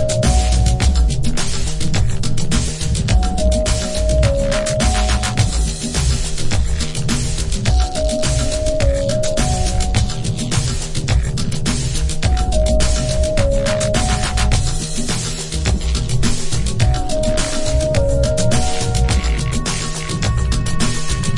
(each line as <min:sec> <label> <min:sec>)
0:00.0 Afro percussion 0:21.3
0:00.0 wobble bass 0:21.3